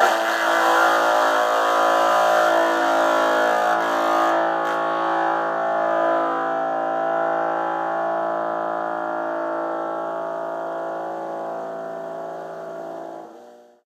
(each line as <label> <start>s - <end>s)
Electric guitar 0.0s - 7.0s